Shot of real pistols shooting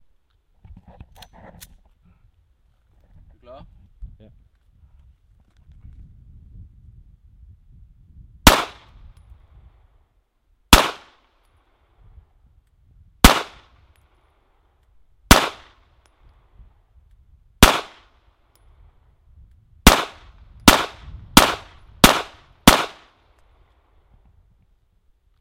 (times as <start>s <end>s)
8.4s 9.0s, 10.7s 11.4s, 13.2s 13.8s, 15.3s 15.8s, 17.6s 18.1s, 19.8s 23.2s